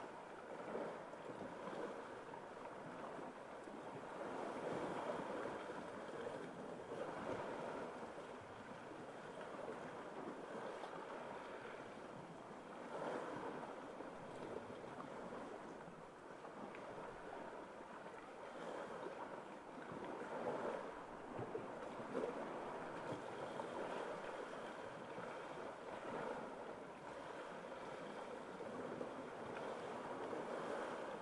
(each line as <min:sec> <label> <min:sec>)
0:00.0 waves 0:31.2
0:00.0 wind 0:31.2